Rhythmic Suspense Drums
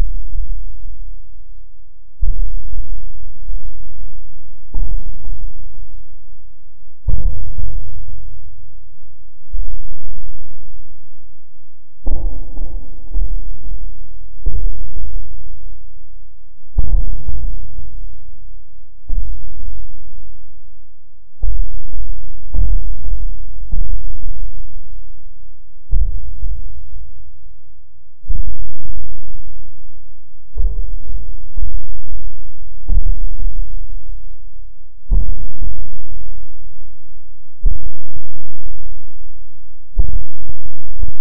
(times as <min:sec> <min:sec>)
0:02.2 0:04.0, 0:04.6 0:05.7, 0:07.0 0:08.2, 0:12.0 0:15.6, 0:16.7 0:18.0, 0:19.1 0:20.0, 0:21.4 0:24.8, 0:25.8 0:26.7, 0:28.2 0:29.6, 0:30.5 0:34.0, 0:35.1 0:36.4, 0:37.6 0:39.0, 0:39.9 0:41.2